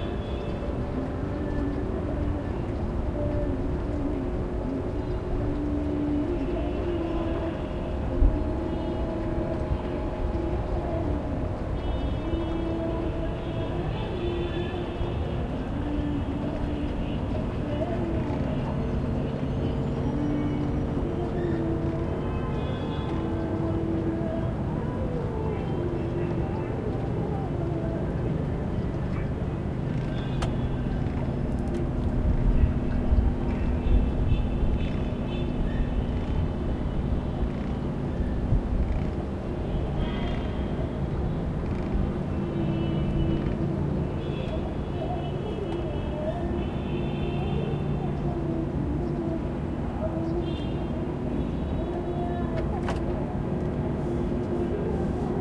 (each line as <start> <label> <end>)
0.0 Music 39.2
0.0 Light wind 55.4
0.0 traffic 55.4